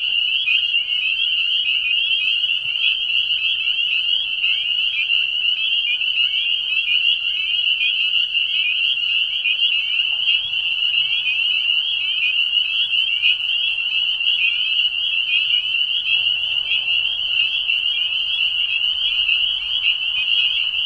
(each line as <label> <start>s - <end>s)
Boreal chorus frogs 0.0s - 20.8s
Spring Peepers 0.0s - 20.8s